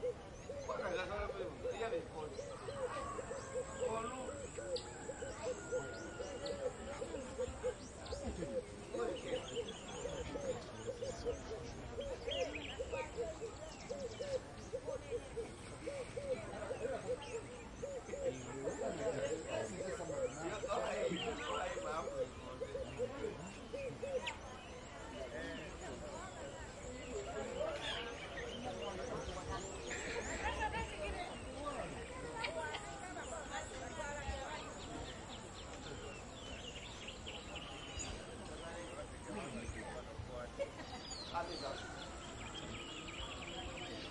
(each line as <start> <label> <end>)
0.0 pigeon 33.8
0.0 distant voices 44.1